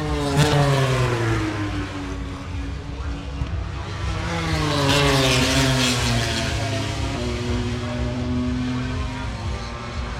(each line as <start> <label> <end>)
0.0 motorcycle grand prix 10.1